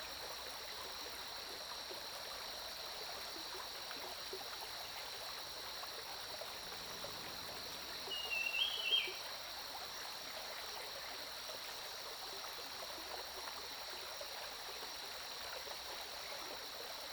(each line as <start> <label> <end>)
0.0 Stream 17.1
7.0 Bird calls 9.2